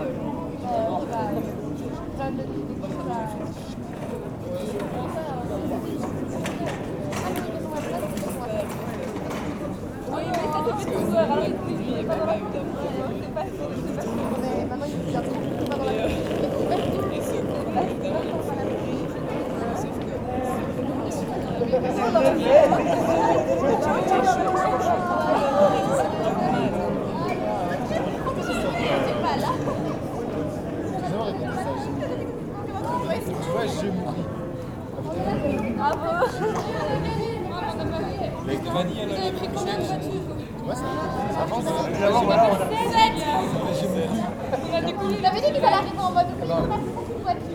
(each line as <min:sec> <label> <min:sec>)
0:00.0 people are lazying with great well-being on the bars terraces 0:47.5